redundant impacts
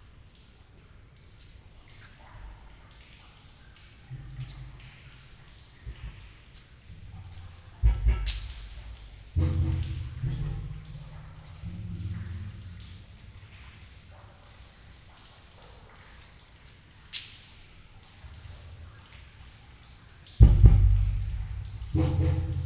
0:20.4 0:22.6

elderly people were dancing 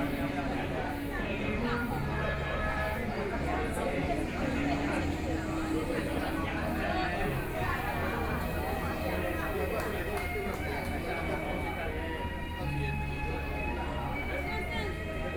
0:03.7 0:14.4

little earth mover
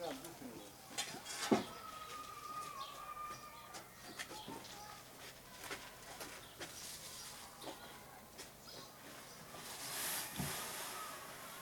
0:09.5 0:11.6

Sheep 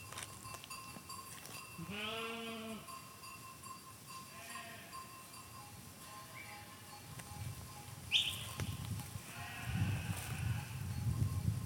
0:08.2 0:10.9

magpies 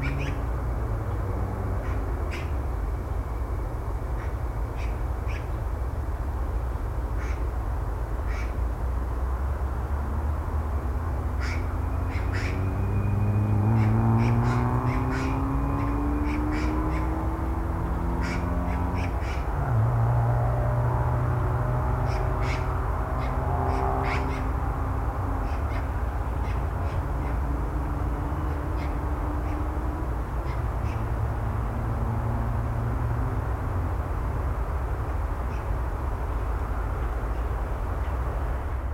0:00.0 0:00.4, 0:11.4 0:12.6, 0:13.7 0:17.2, 0:18.2 0:19.5, 0:22.0 0:24.5, 0:25.4 0:27.4, 0:28.8 0:29.7

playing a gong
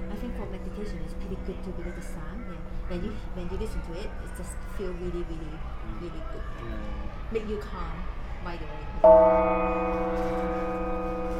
0:00.0 0:03.2, 0:09.0 0:11.3

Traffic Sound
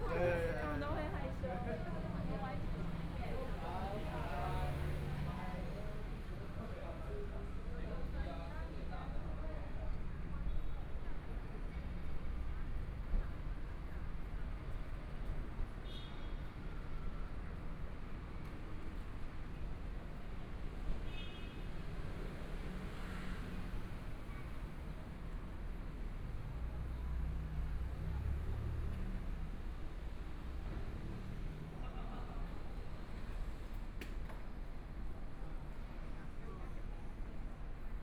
0:22.0 0:35.9

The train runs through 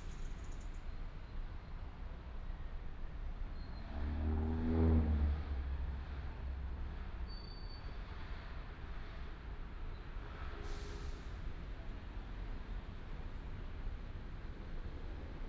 0:06.9 0:15.4

